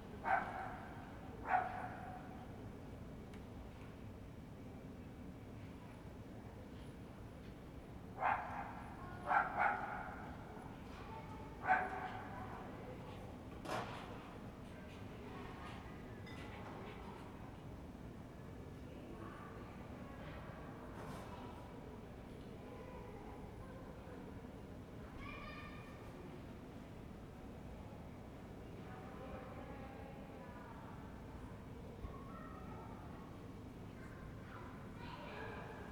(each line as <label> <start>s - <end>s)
dog 0.2s - 2.3s
dog 8.2s - 10.2s
dog 11.6s - 12.4s